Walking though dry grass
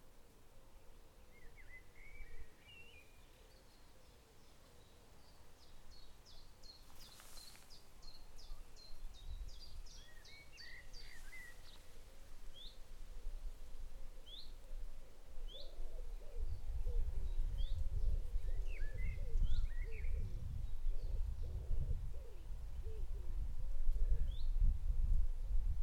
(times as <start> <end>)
6.8 8.8, 10.8 13.0